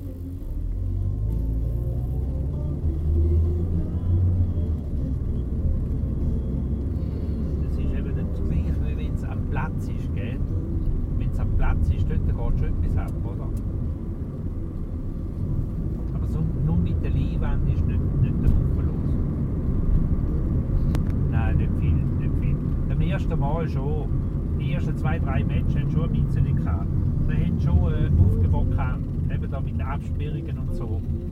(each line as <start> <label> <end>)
7.6 taxi driver commenting 13.6
16.1 taxi driver commenting 19.2
21.3 taxi driver commenting 31.2